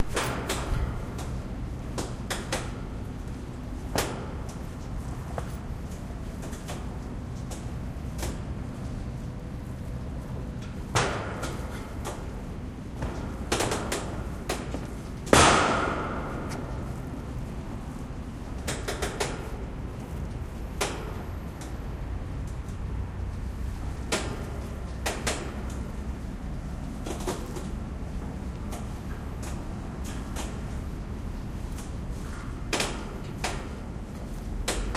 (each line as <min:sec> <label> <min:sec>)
0:00.0 Walking on the pier 0:32.6
0:15.3 bang 0:16.4